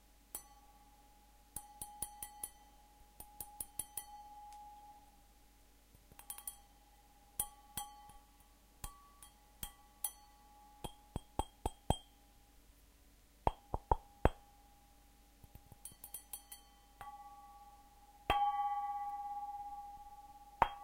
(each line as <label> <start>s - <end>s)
plings on a glass with the finger and with a spoon 0.3s - 5.1s
plings on a glass with the finger and with a spoon 6.0s - 12.2s
plings on a glass with the finger and with a spoon 15.4s - 20.8s